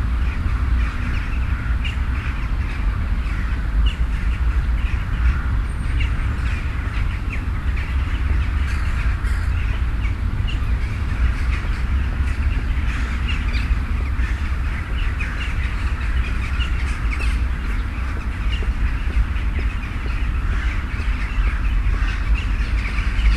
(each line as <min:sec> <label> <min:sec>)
0:00.0 Birds 0:23.3